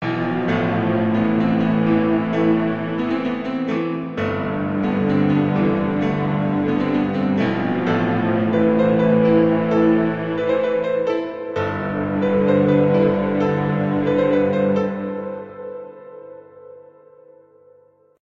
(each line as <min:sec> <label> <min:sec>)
0:00.0 Piano 0:18.2
0:00.0 string ensemble 0:15.8